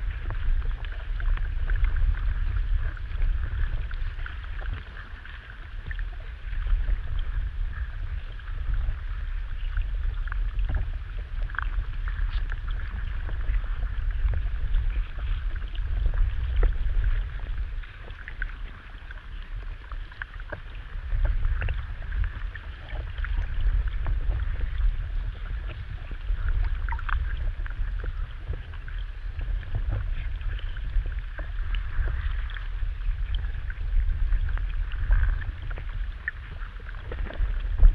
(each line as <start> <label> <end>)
0.0 river 37.9